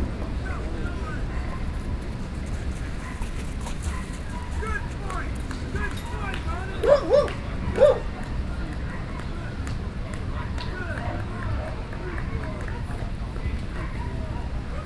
dogs 0:00.8 - 0:14.8

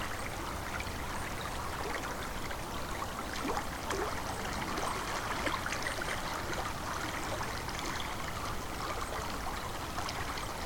river 0:00.0 - 0:10.6

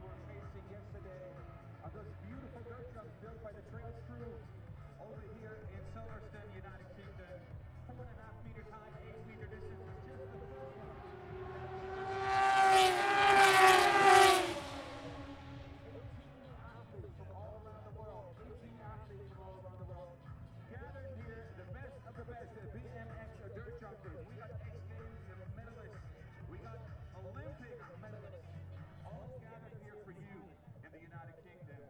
moto two 0:00.0 - 0:18.4

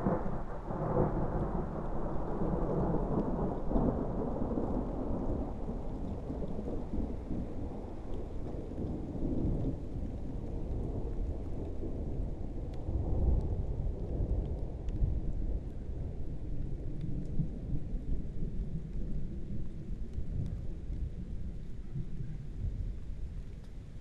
Highveld Thunderstorm 0:00.0 - 0:24.0

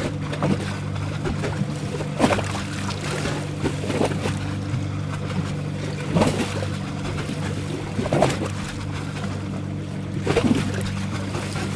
Two boats are going through the canal 0:00.0 - 0:11.7
waves 0:00.0 - 0:11.7

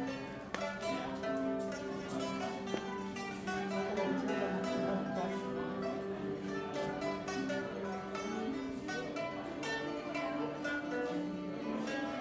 class teaching about the traditional 13 instrument 0:00.0 - 0:12.2

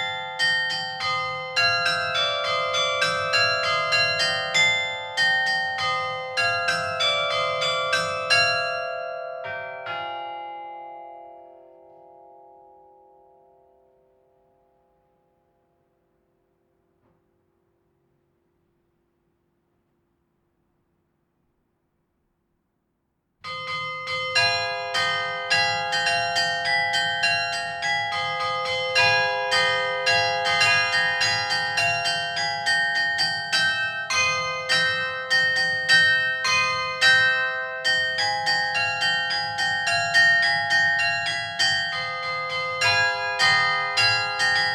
Carillon 0:23.4 - 0:44.7

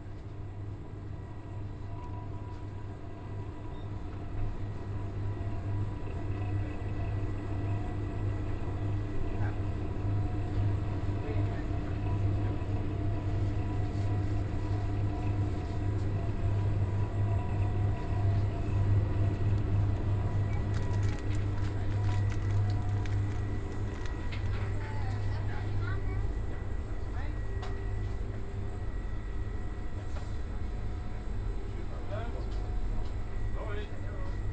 cooling system 0:16.9 - 0:34.5

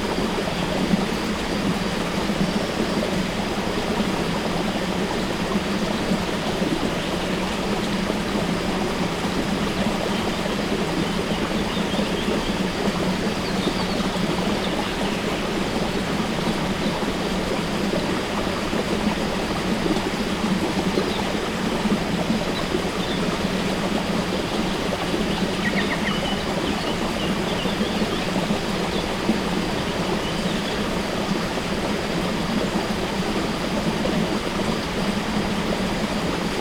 Water from source of river Tolminka flowing in a stream 0:00.0 - 0:36.6
birds 0:09.4 - 0:17.0
birds 0:22.2 - 0:31.2

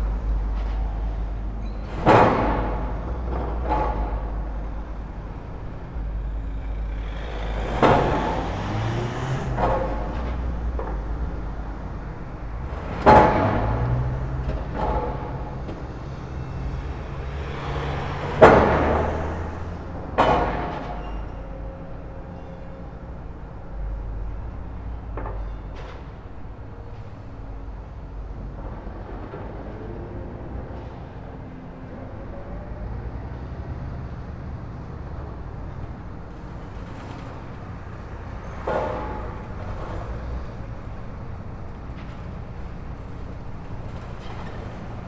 excavator with clamshell attachment sorting scrap 0:00.0 - 0:21.5
excavator with clamshell attachment sorting scrap 0:35.1 - 0:45.0

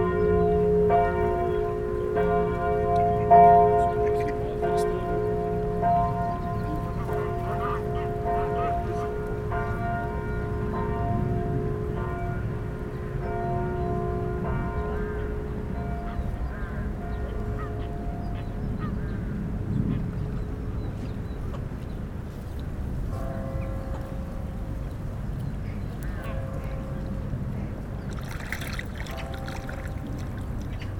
distant bells 0:00.0 - 0:21.5
Common Moorhen 0:06.2 - 0:09.2
Greater White-fronted Goose 0:06.6 - 0:09.2
distant bells 0:22.7 - 0:30.9

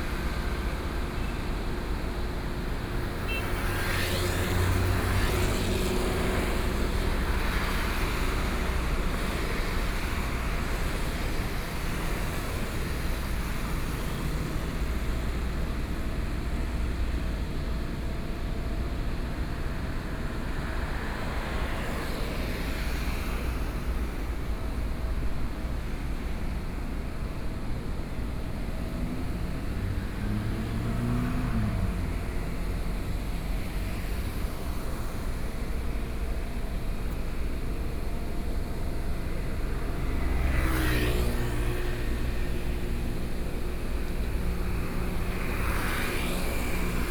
Traffic noise 0:00.0 - 0:47.1
Cement plant across the road noise 0:19.8 - 0:47.1

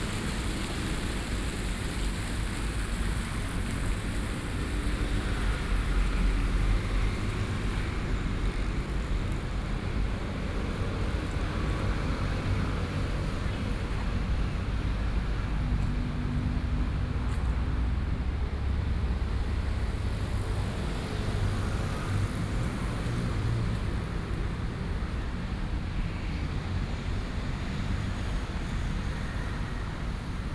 Traffic noise 0:00.0 - 0:30.5

